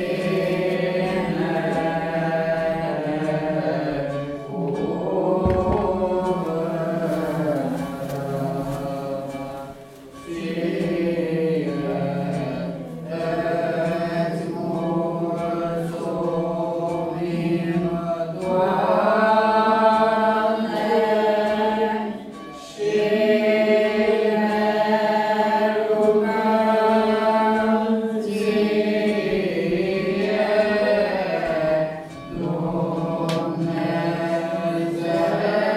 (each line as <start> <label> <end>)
5.1 Mass 8.4